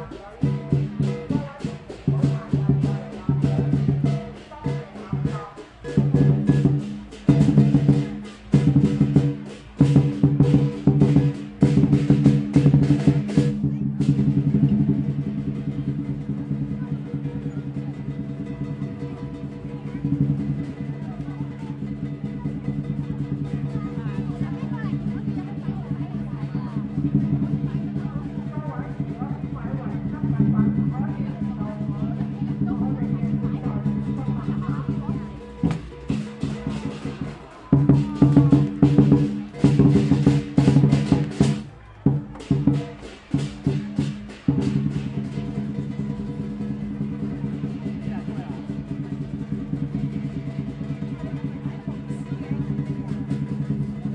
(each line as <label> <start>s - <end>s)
announcements broadcasted through speakers 0.0s - 8.6s
drummers playing 0.0s - 54.1s
people talking and shouting 0.0s - 54.1s
announcements broadcasted through speakers 23.6s - 43.0s